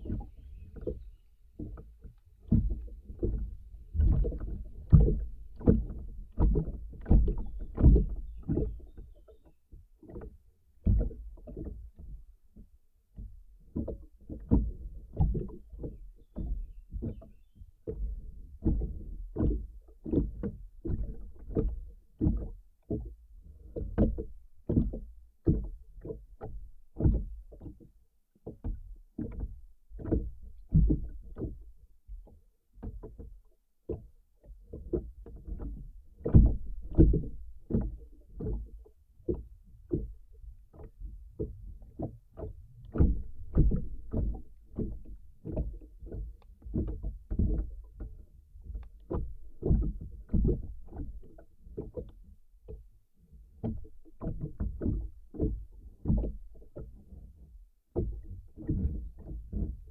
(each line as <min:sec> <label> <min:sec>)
0:00.0 wind 0:59.9
0:00.0 wooden boat being gently swayed by the water 0:59.9